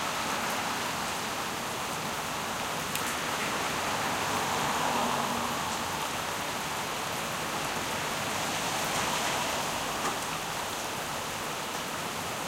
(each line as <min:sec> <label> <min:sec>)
0:00.0 rain 0:12.4